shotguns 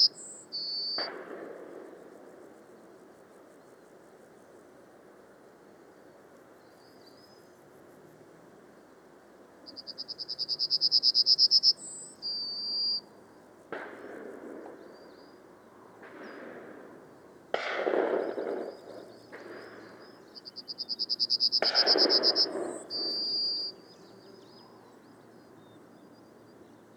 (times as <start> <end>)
13.7 14.8, 17.5 20.0, 21.6 22.8